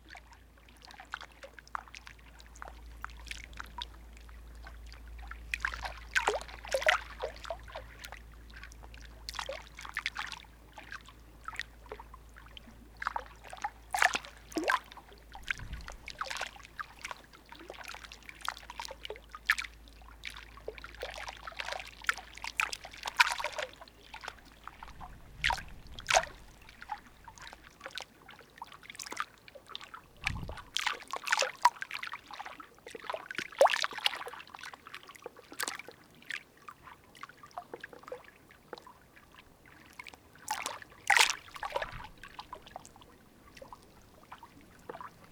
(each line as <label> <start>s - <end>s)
water flowing 5.4s - 31.9s
water flowing 40.5s - 45.3s